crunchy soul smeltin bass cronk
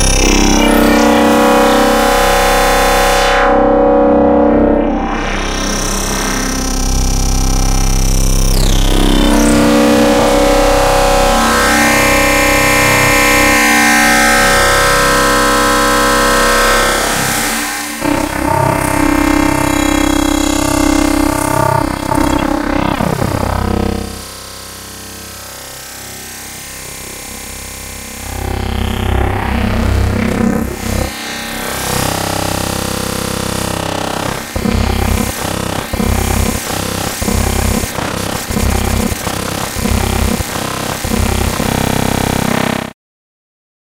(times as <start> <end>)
14.8 24.3, 33.9 42.5